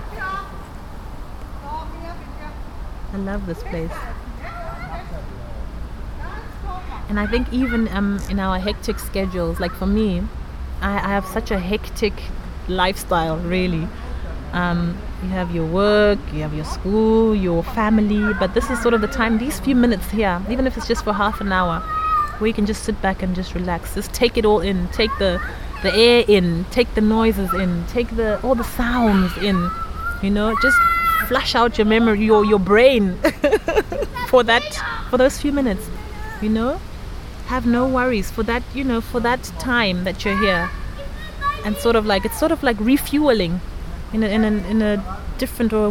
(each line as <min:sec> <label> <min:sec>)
0:14.6 Song of the park 0:45.0